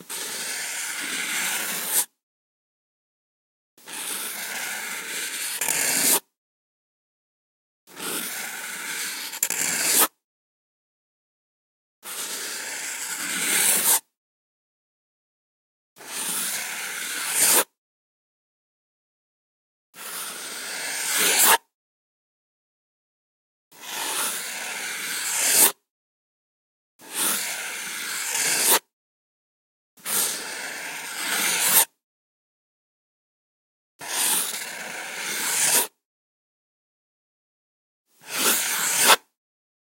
marker circel movement 38.4 - 39.2

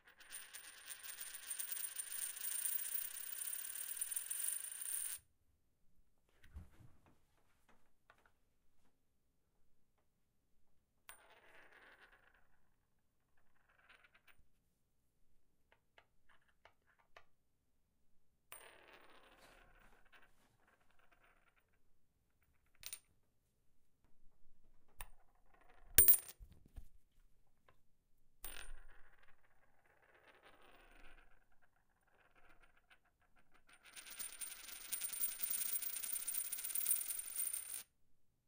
Coin Sounds 0.2 - 5.2
Coin Sounds 25.7 - 26.4
Coin Sounds 33.8 - 37.9

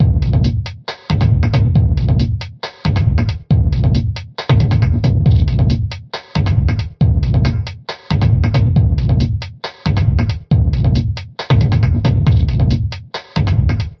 drum loop 0.0 - 14.0

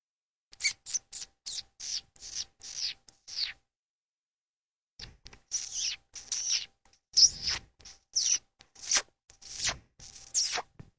kissy sound 5.0 - 10.8

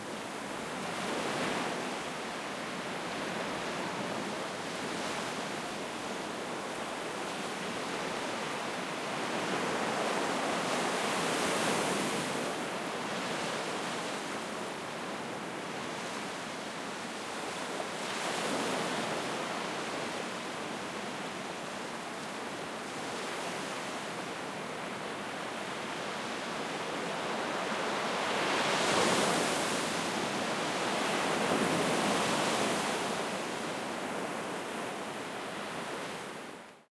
wind 0.0 - 36.9

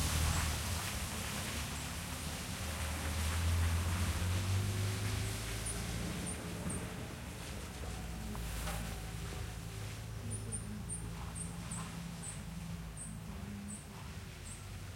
car passes on the muddy street 0.0 - 14.9

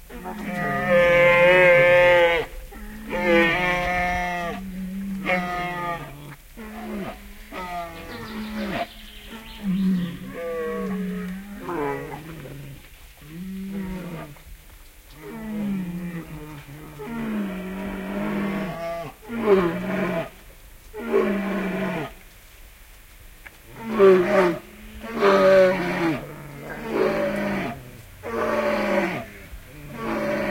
birds in the bg 7.8 - 10.9
Bears eating and growling 26.0 - 30.5

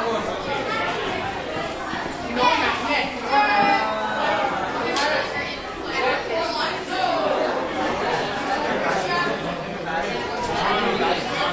busy students chatting 0.0 - 11.5

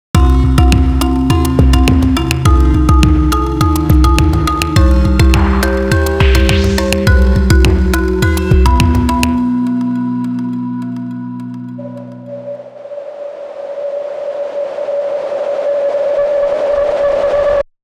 bass 0.1 - 12.3
drums 0.2 - 9.5

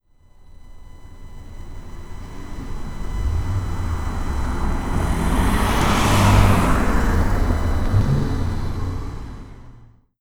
Toyota Highlander passing by 2.0 - 10.0

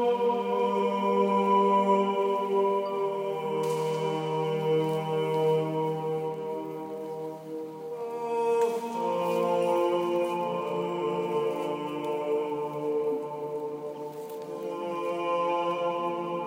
a cappella 0.0 - 16.4

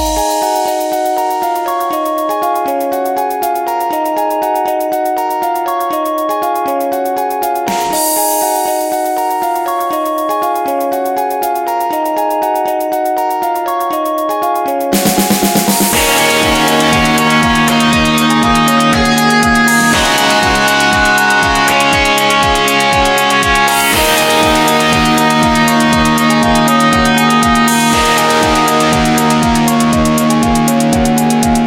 guitar 0.0 - 31.6

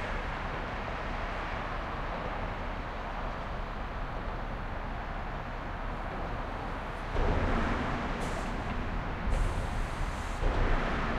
bridge underpass traffic thumps1 0.0 - 11.1

